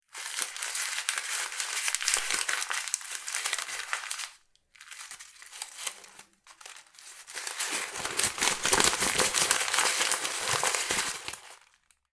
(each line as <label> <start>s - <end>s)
Paper crumple 0.1s - 12.0s